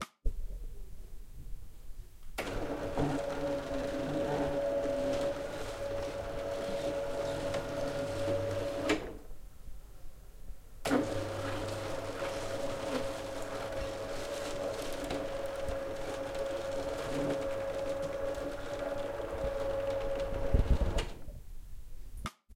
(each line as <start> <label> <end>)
2.4 electric blinds moving up 9.3
10.9 electric blinds moving up 21.3